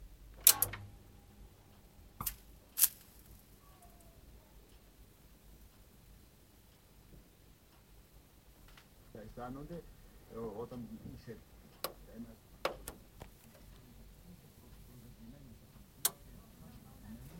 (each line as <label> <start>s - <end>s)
Tv 100Hz on 3.6s - 17.3s